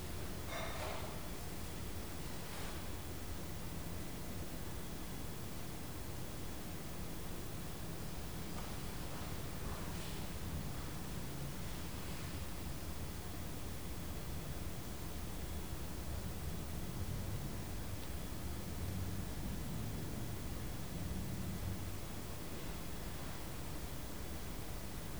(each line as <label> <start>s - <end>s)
movements of a member of the clergy 8.4s - 11.1s